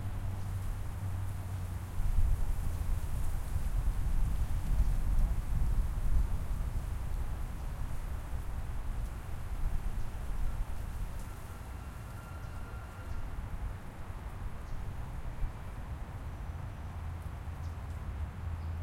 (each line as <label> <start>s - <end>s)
breeze rustling in trees 0.0s - 18.8s
freeway 0.0s - 18.8s